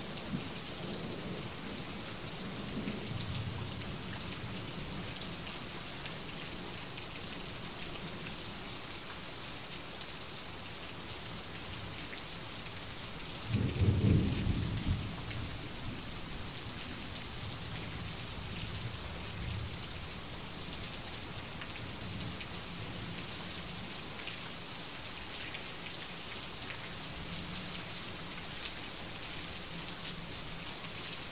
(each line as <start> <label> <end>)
0.0 rain 31.3
13.4 thunder 15.6